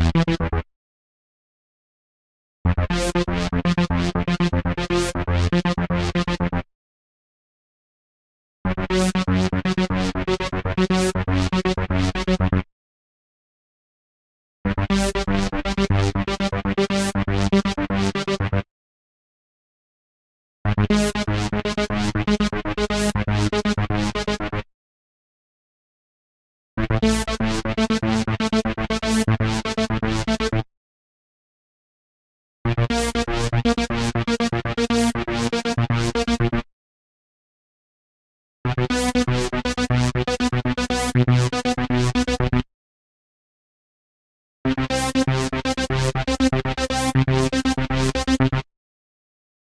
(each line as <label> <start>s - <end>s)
wobble style bass 0.0s - 0.6s
wobble style bass 14.7s - 18.6s
wobble style bass 38.7s - 42.6s